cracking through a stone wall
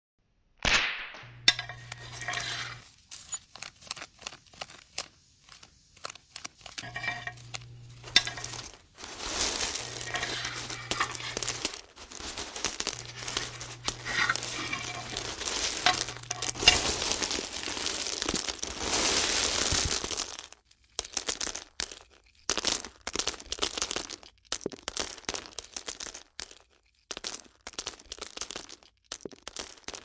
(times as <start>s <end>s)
6.4s 30.0s